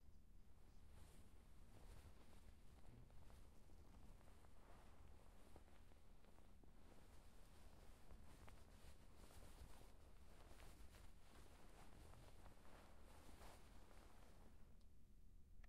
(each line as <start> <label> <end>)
0.8 hand brushing a sheet 14.6